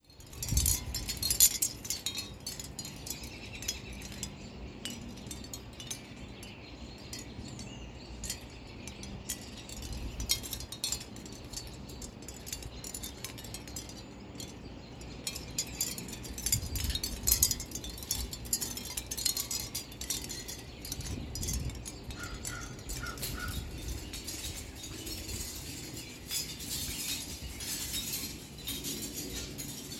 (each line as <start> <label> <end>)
0.0 Wind chimes tinkling 29.9